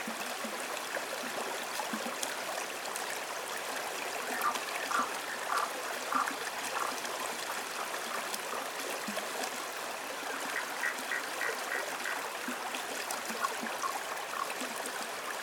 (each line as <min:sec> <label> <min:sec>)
0:00.0 river 0:15.4
0:04.2 chorus of frogs 0:15.4